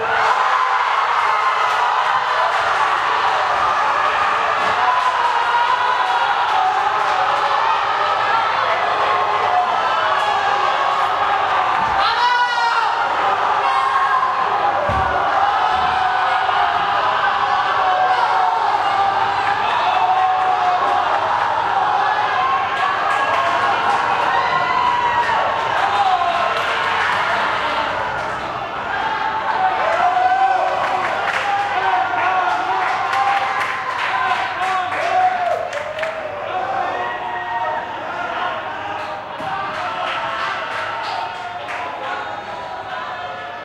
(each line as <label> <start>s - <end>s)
people shouting 0.0s - 43.6s